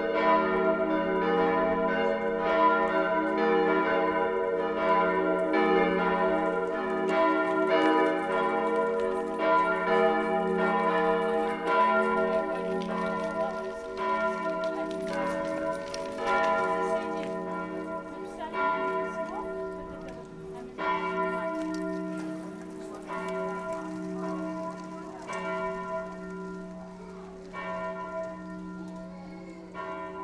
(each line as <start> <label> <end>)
0.0 churchbells 30.2